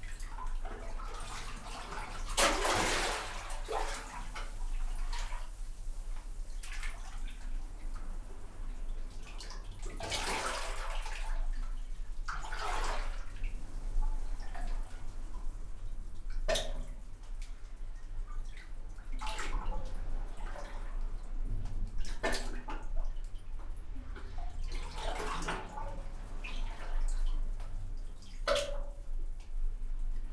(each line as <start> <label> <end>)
0.0 water in concrete chamber 30.3